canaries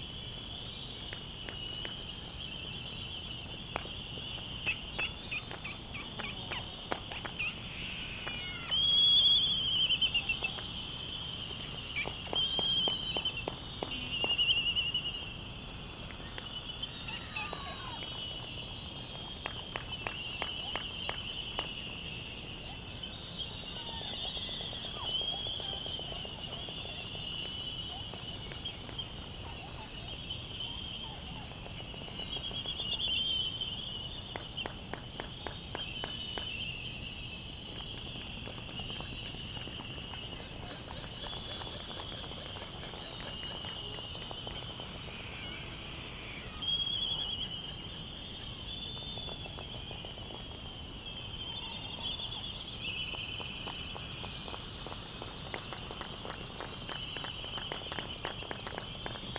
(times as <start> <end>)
4.4 15.1, 16.0 18.2, 22.6 36.5, 38.9 50.4